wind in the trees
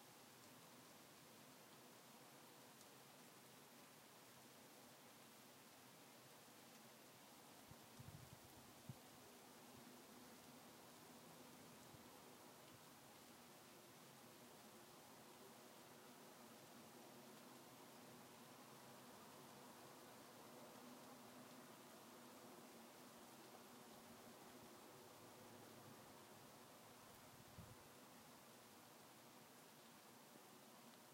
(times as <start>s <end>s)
7.4s 10.0s, 16.8s 31.1s